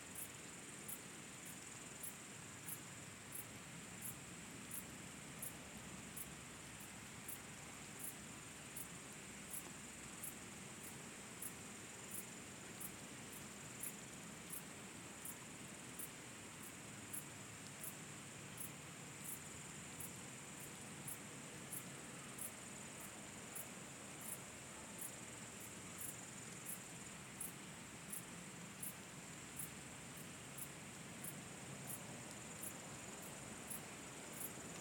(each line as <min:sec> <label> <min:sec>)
0:00.0 bush crickets 0:34.8